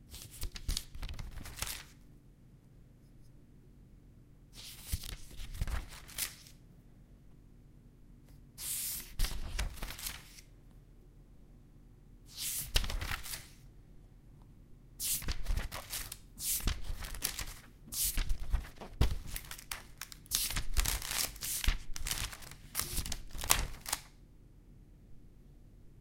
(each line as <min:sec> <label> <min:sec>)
0:00.1 paper being turned 0:02.0
0:04.6 paper being turned 0:06.5
0:08.6 paper being turned 0:10.5
0:12.3 paper being turned 0:13.6
0:15.0 paper being turned 0:24.1